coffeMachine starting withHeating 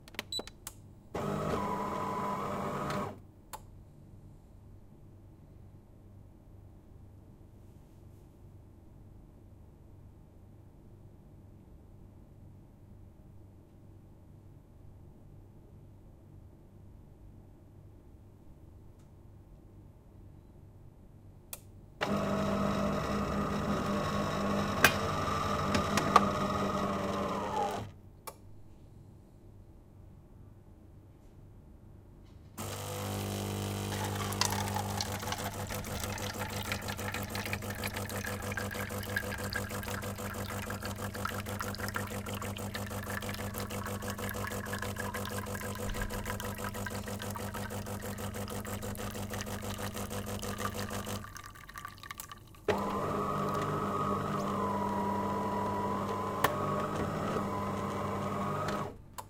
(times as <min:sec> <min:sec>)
0:01.2 0:03.2, 0:22.0 0:27.9, 0:32.6 0:51.3, 0:52.7 0:59.0